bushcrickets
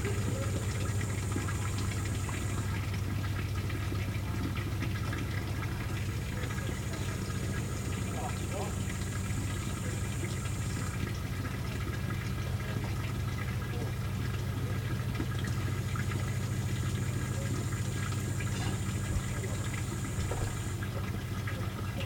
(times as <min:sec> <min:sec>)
0:00.0 0:03.0, 0:05.8 0:11.1, 0:15.4 0:20.8